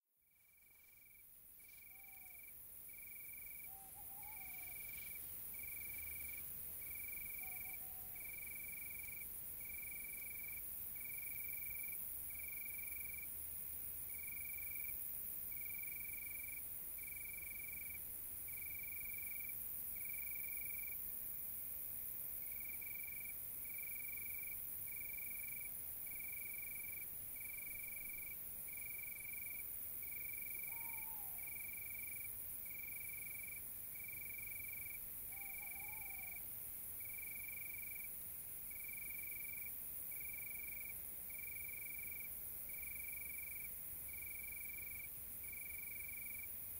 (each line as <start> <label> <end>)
0.2 crickets 46.7
1.6 tawnyowl 2.5
3.5 tawnyowl 5.1
7.2 tawnyowl 8.6
30.4 tawnyowl 31.9
35.3 tawnyowl 36.5